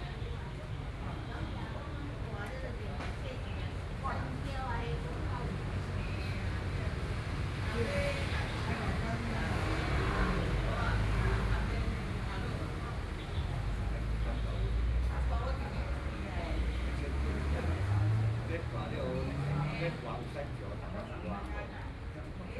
group of elderly people chatting 0:00.0 - 0:22.5
Traffic Sound 0:04.6 - 0:22.5

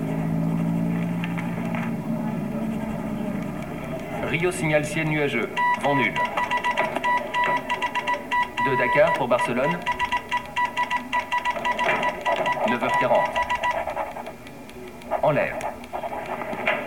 looped audio message 0:03.7 - 0:16.0

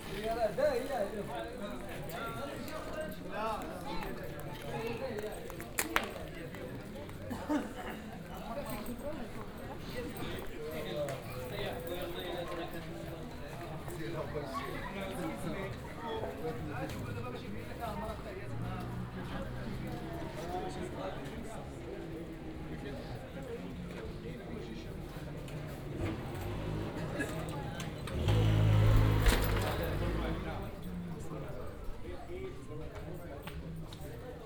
unexcited street live 0:25.5 - 0:31.2

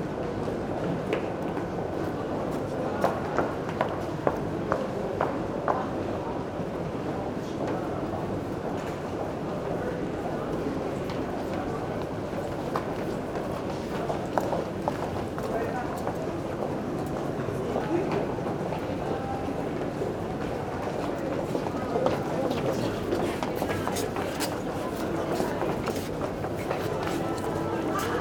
subway 0:00.0 - 0:28.2
steps 0:21.4 - 0:28.2

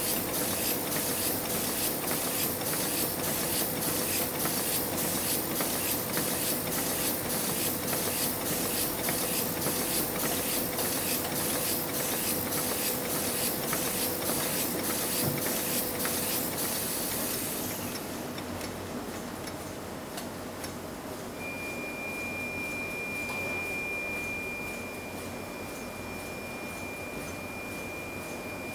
book covers being printed 0:00.0 - 0:18.8

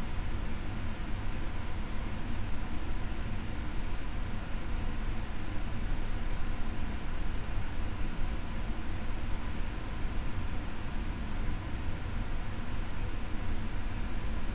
air ventilation system 0:00.0 - 0:14.5

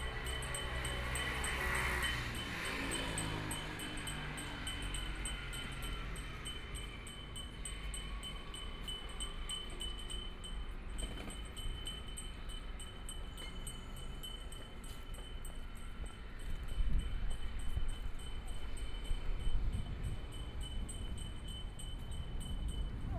Traffic Sound 0:00.0 - 0:10.9
Bells 0:00.0 - 0:23.1

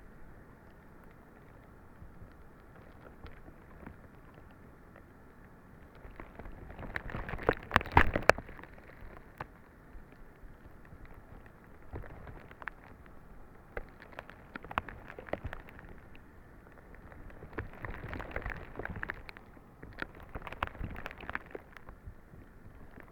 broken ice on the lake 0:00.0 - 0:23.1

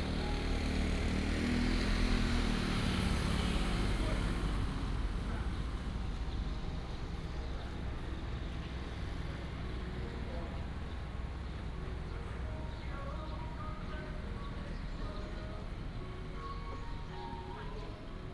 Traffic sound 0:00.0 - 0:18.3

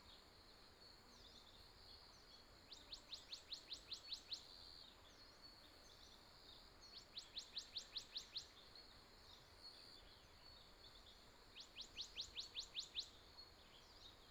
Insect noise 0:00.0 - 0:14.3

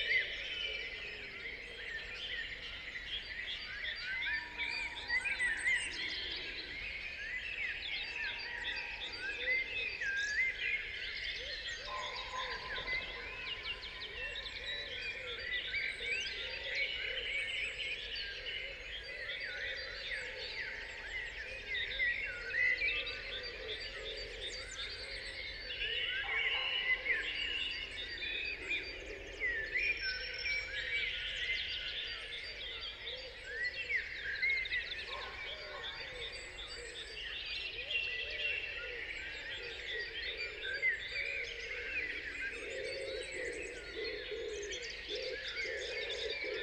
Blackbirds 0:00.0 - 0:46.6
Pheasants 0:00.0 - 0:46.6
Robins 0:00.0 - 0:46.6
Carrion Crows 0:21.6 - 0:30.9

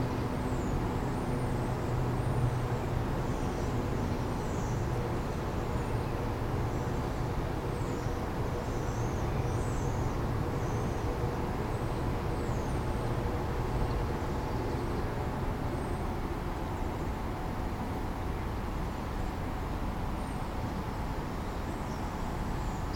bass of traffic 0:00.0 - 0:22.9

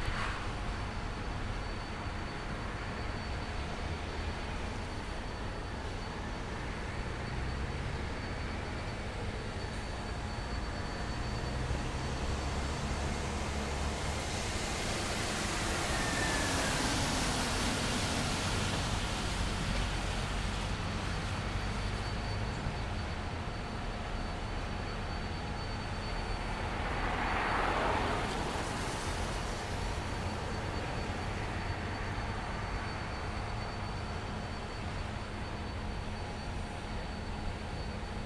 Wasted Sound of a Factory 0:00.0 - 0:38.2

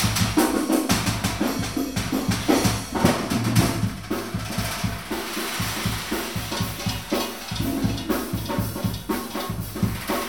various percussion instrument 0:00.0 - 0:10.2

